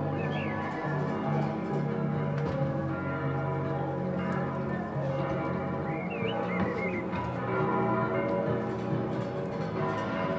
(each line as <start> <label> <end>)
0.0 church bells 10.3
0.1 birds 0.8
0.4 more people join with banging and rattles 10.3
5.9 birds 7.1